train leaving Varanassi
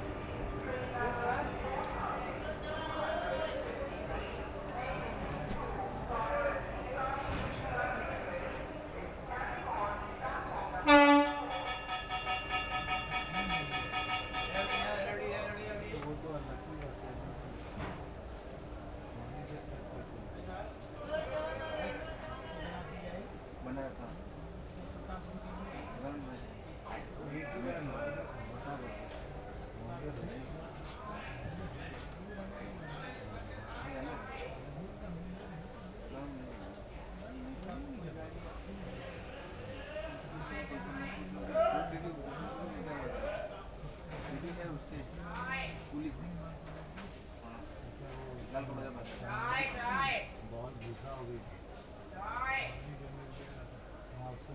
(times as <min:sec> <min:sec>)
0:00.0 0:42.9